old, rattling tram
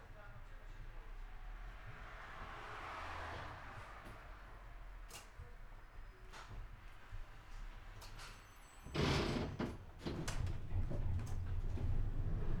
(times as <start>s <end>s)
7.6s 12.6s